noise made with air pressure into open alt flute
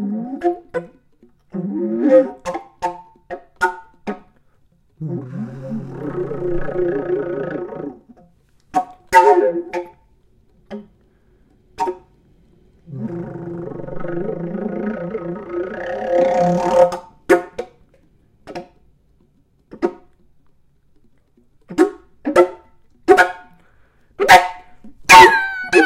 0:01.5 0:03.0, 0:05.0 0:08.0, 0:09.1 0:10.1, 0:12.8 0:17.2, 0:24.3 0:25.8

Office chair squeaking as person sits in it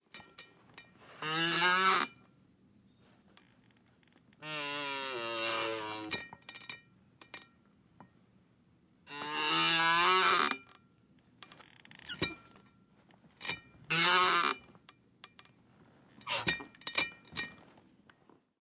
0:01.0 0:02.2, 0:02.9 0:06.2, 0:09.1 0:10.7, 0:11.5 0:12.6, 0:13.9 0:14.8, 0:15.8 0:16.7

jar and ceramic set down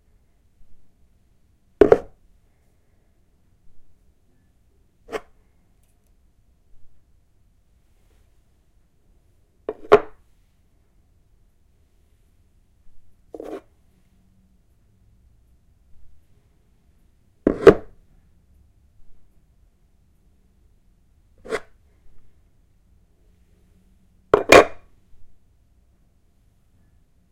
0:24.4 0:24.8

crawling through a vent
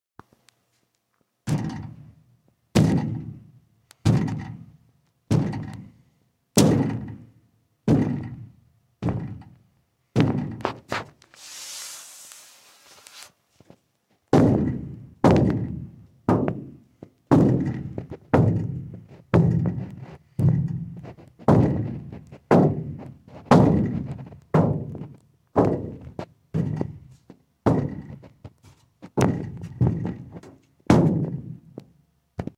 0:17.0 0:31.4

